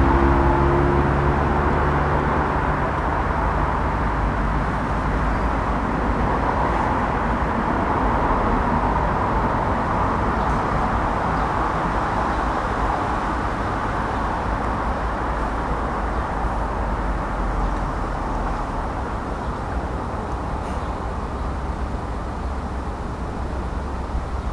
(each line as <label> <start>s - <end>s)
road traffic noise 0.0s - 24.5s
birds 18.5s - 24.5s